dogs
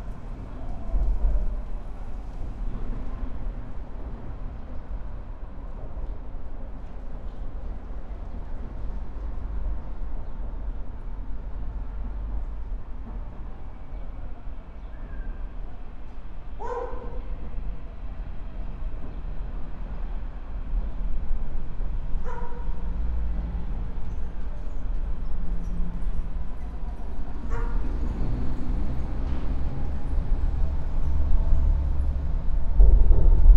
16.6 17.3, 22.2 22.8, 27.4 28.0

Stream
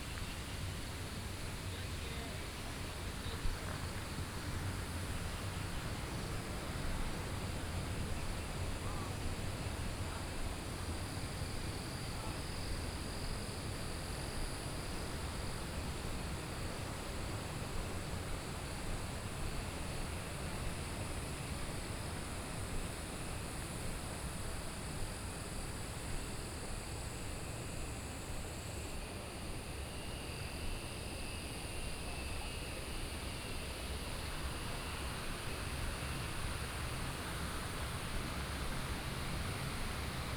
13.2 40.3

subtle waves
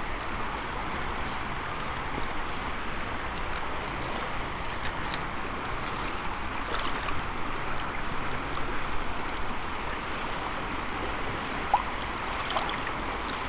6.3 13.4

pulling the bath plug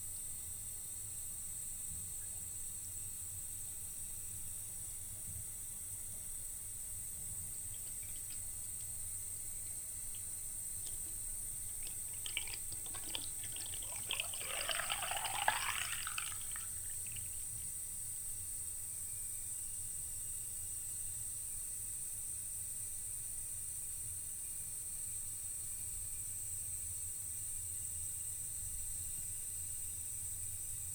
10.1 17.5

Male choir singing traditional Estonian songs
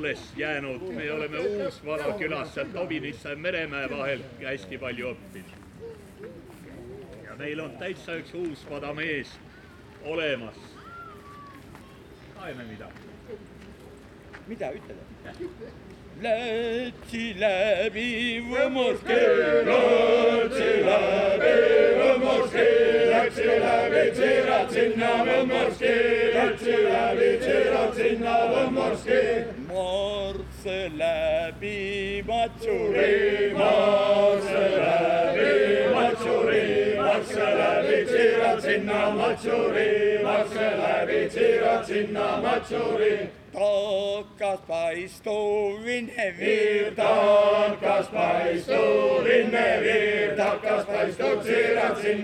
16.2 52.2

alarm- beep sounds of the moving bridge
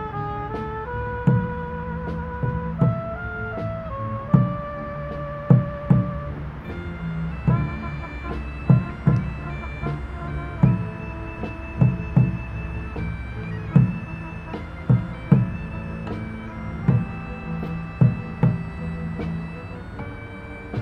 6.5 20.8

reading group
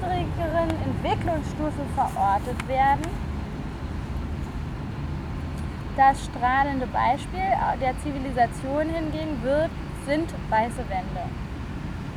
0.0 3.6

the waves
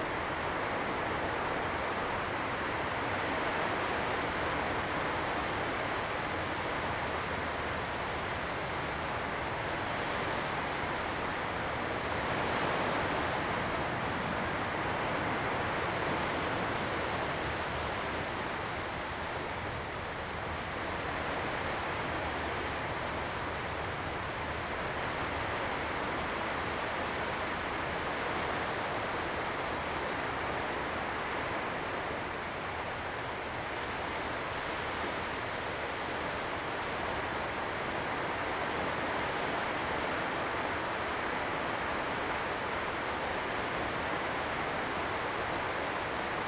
12.0 46.4

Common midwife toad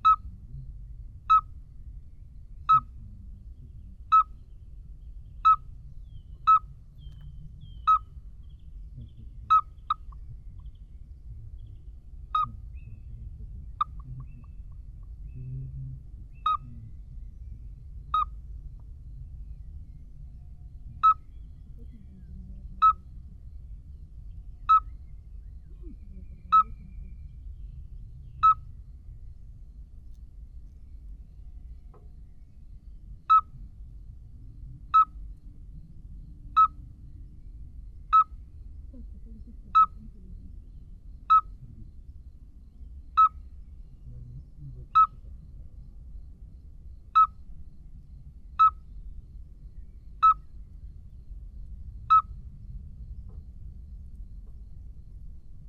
0.0 1.6, 2.6 3.3, 3.9 4.5, 5.4 8.2, 9.1 10.7, 12.2 13.0, 13.6 15.4, 16.0 18.8, 20.9 23.6, 24.6 29.1, 33.2 55.6

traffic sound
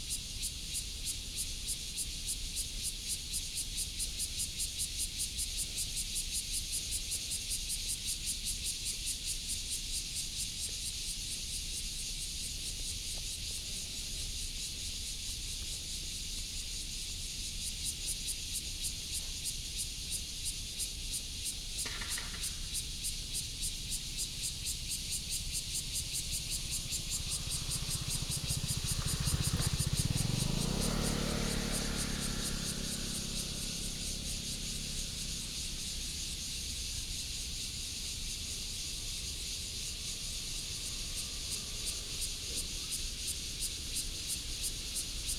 20.9 38.6

